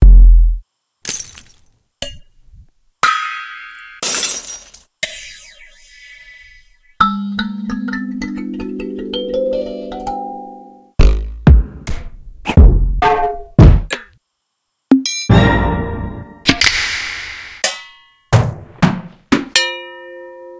drum transients 11.0 - 14.2

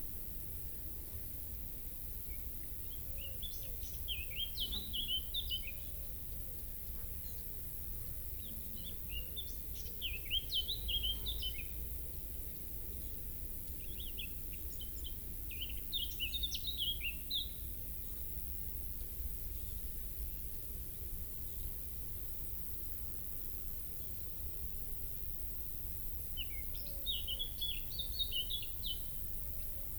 insects chirping 18.7 - 29.9

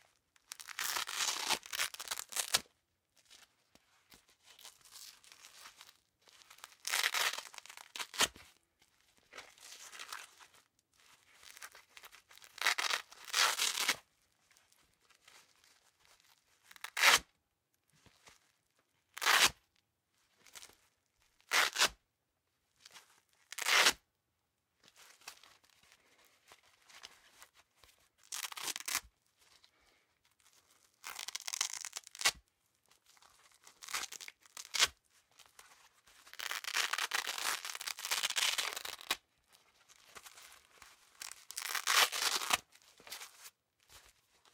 Pulling apart and handling a piece of Velcro 0.4 - 2.7
Pulling apart and handling a piece of Velcro 4.4 - 8.5
Pulling apart and handling a piece of Velcro 11.3 - 14.1
Pulling apart and handling a piece of Velcro 16.6 - 17.3
Pulling apart and handling a piece of Velcro 19.1 - 19.6
Pulling apart and handling a piece of Velcro 21.4 - 22.0
Pulling apart and handling a piece of Velcro 22.8 - 24.0
Pulling apart and handling a piece of Velcro 28.2 - 29.1
Pulling apart and handling a piece of Velcro 30.4 - 32.5
Pulling apart and handling a piece of Velcro 33.1 - 39.2
Pulling apart and handling a piece of Velcro 39.8 - 44.5

